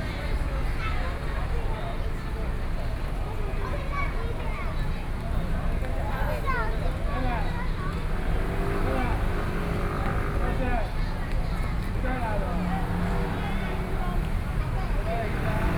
Traffic Sound 0:06.9 - 0:15.7

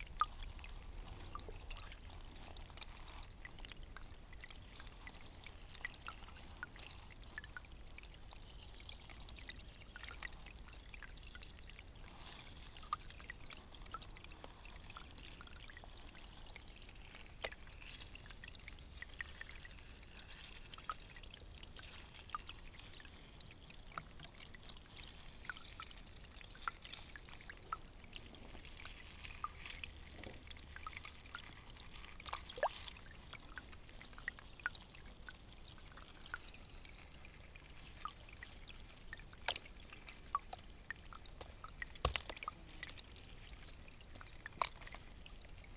stream 0:00.0 - 0:45.7
dripping 0:12.7 - 0:45.7

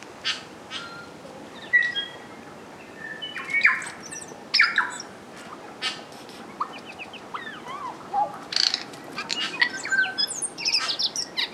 birds 0:00.2 - 0:11.5

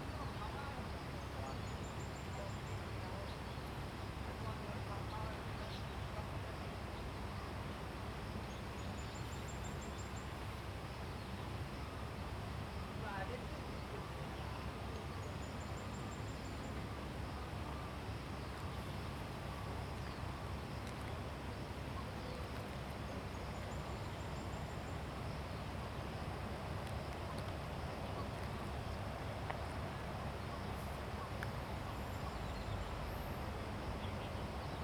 water streams 0:00.0 - 0:34.8

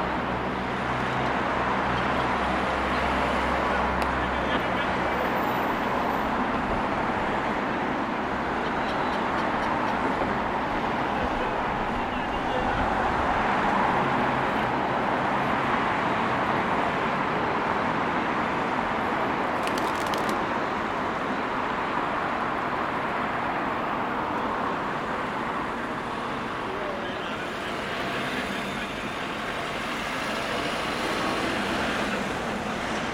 different vehicles driving by 0:00.0 - 0:33.1
baby stroller over cobblestone 0:19.1 - 0:20.8
birds flying and squawking 0:19.6 - 0:20.4

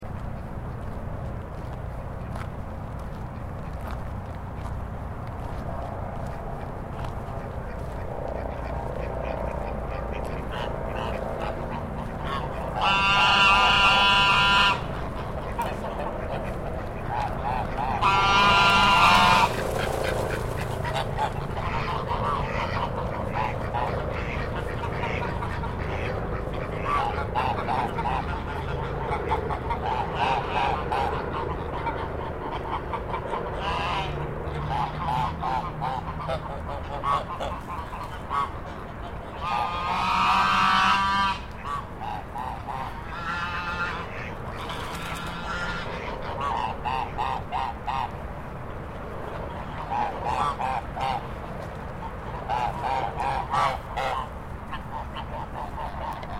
white geese 0:05.4 - 0:48.2
white geese 0:49.2 - 0:56.3

